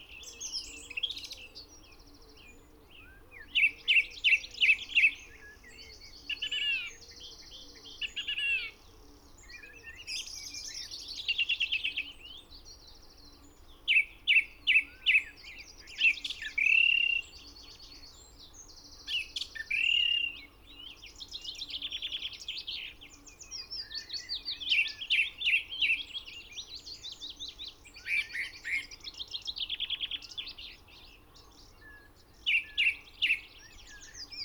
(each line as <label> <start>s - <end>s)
blackbird 0.0s - 34.4s
pheasant 0.0s - 34.4s
willow warbler 0.0s - 34.4s
song thrush song 9.9s - 34.4s